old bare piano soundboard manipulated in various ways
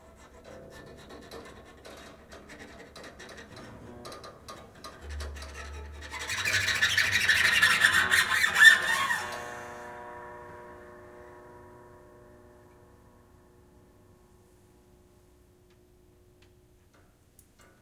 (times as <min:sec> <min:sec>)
0:00.0 0:10.0